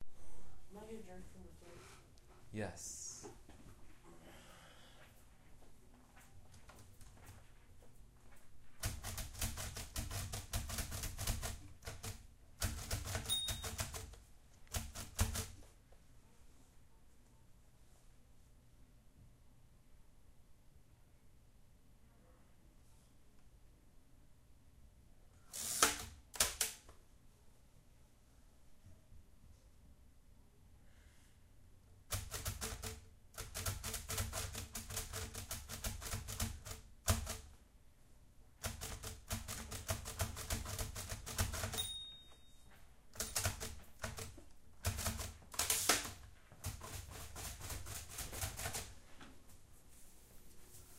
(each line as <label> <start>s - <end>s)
typing on a Perkins Brailler 8.8s - 15.6s
typing on a Perkins Brailler 32.1s - 37.5s
typing on a Perkins Brailler 38.6s - 42.0s
typing on a Perkins Brailler 43.1s - 48.9s